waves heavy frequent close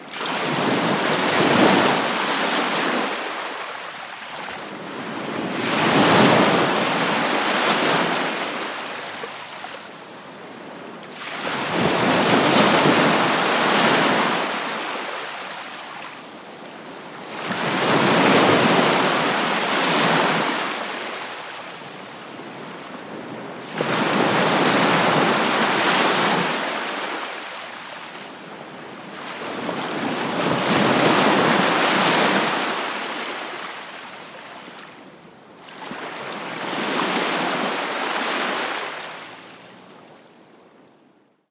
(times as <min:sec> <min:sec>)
0:16.9 0:35.0